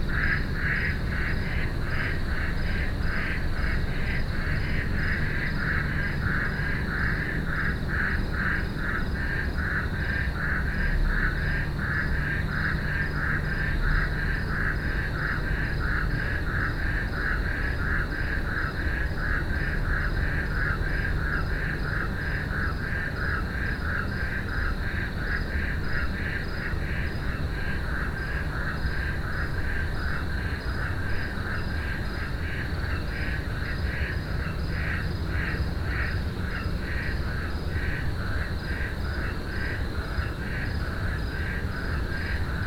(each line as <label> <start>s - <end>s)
frogs 0.0s - 42.6s
nightly hum 0.0s - 42.6s